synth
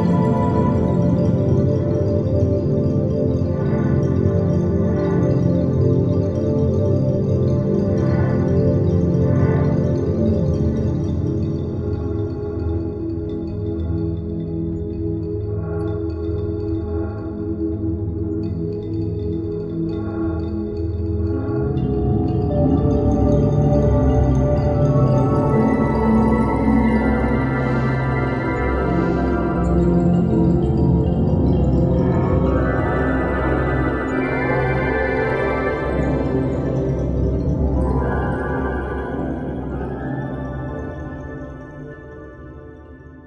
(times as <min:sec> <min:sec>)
0:21.4 0:43.2